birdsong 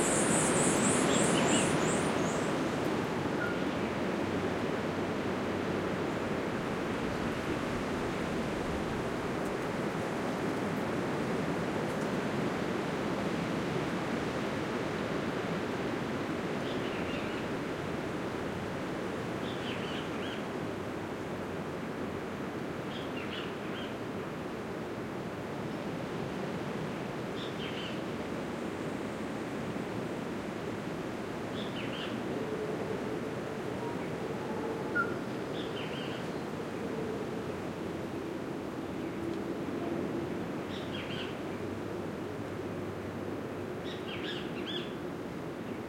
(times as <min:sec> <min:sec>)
0:00.0 0:02.6